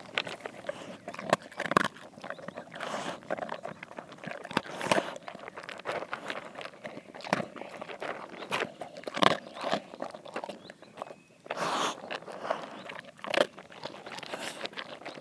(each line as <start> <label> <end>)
0.0 Dog eating 15.2